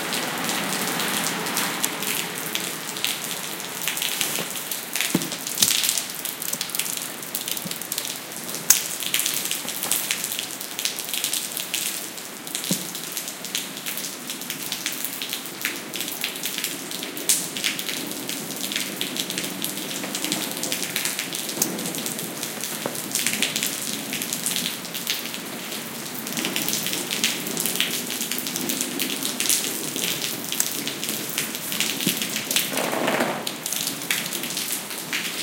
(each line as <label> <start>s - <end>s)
streetnoise 0.0s - 15.3s
rain fall on my umbrella and to the floor 0.0s - 35.4s